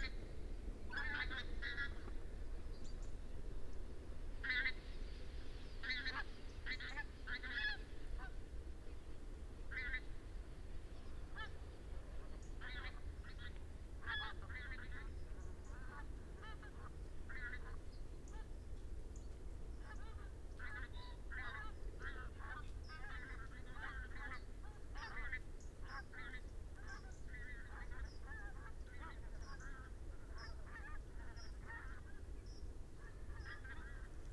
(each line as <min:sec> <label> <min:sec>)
0:00.9 pink-footed geese 0:02.1
0:05.8 pink-footed geese 0:08.4
0:12.2 pink-footed geese 0:18.5
0:19.2 pheasant 0:34.3
0:19.8 pink-footed geese 0:32.3
0:33.0 pink-footed geese 0:34.3